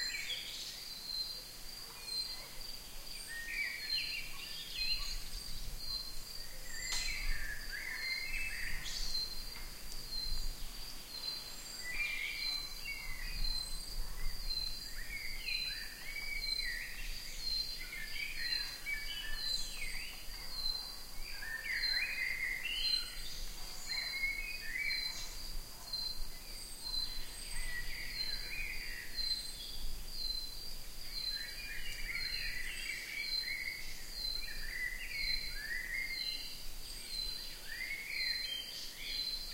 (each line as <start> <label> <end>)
0.0 Singing Birds 30.5
0.0 Crickets 39.5
1.3 dogs barking far away 3.1
12.5 dogs barking far away 14.5
20.1 dogs barking far away 22.6
23.5 dogs barking far away 28.1
31.1 Singing Birds 39.5